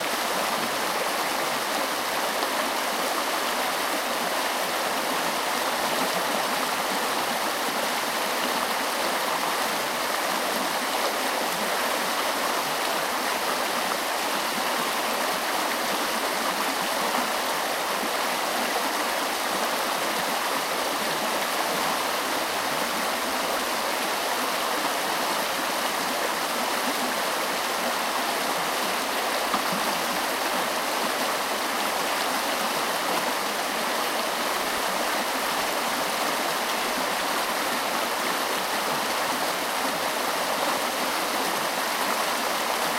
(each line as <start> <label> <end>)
0.0 Streem, creek 42.9